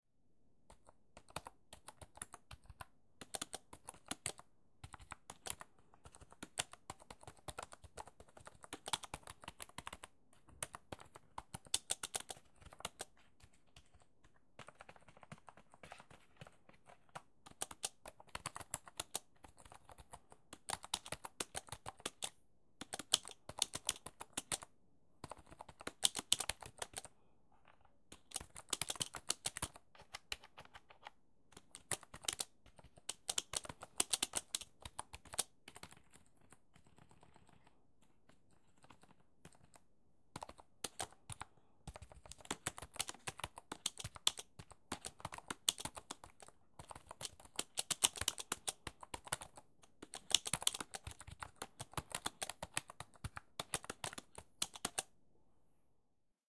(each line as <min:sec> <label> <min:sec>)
0:00.6 Computer Typing 0:27.1
0:28.1 Computer Typing 0:55.1